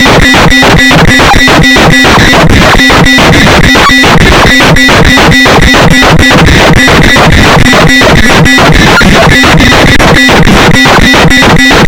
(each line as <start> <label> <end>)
0.0 Glitch Beat 11.8